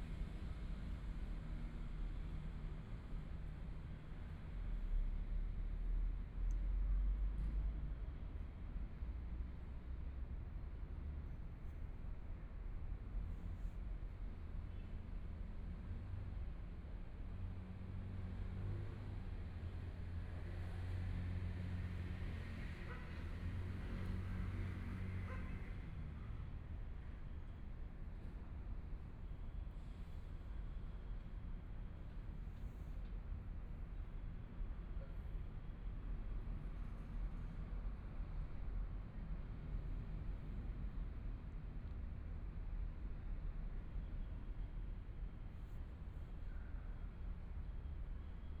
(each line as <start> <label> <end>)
17.9 Traffic Sound 34.4
21.7 trains 40.8